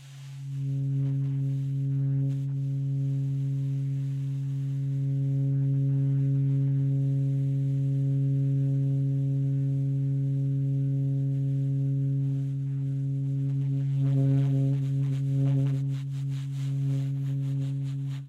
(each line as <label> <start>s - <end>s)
long subtone concert D flat on the alto sax 0.0s - 18.2s